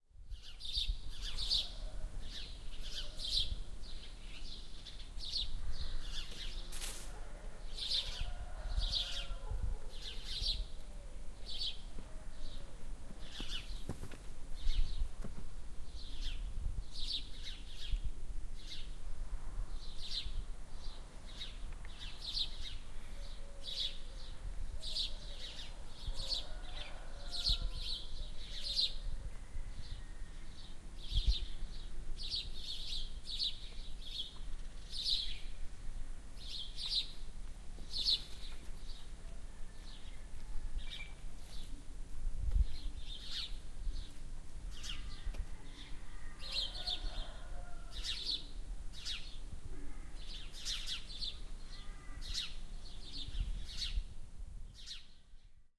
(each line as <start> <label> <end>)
0.4 birds 18.0
7.1 rooster 10.0
19.8 birds 35.6
26.1 rooster 30.4
37.8 birds 41.8
42.6 birds 54.0
44.8 rooster 48.5